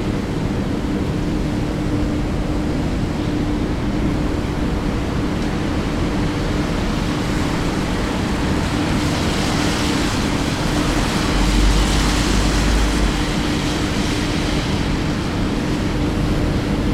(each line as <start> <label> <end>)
2.7 rainy night 16.9